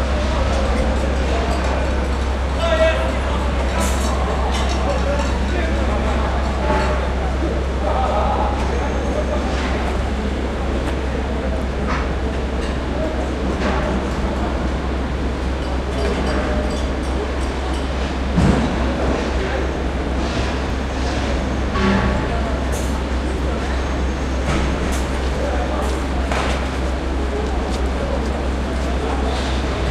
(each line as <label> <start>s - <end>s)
machinery 0.0s - 29.9s